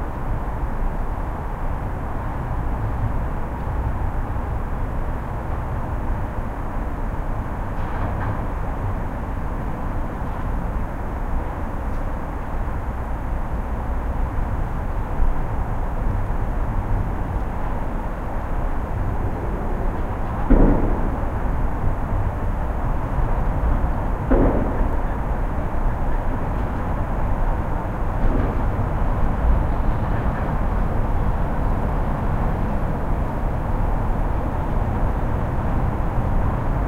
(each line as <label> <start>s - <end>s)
Traffic 0.0s - 36.8s
construction 16.0s - 36.8s